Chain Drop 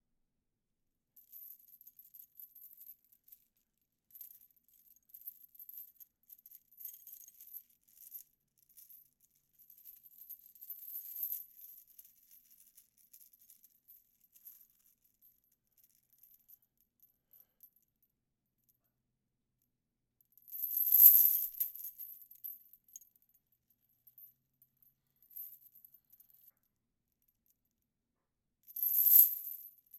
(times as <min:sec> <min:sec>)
0:20.6 0:21.7, 0:28.8 0:29.5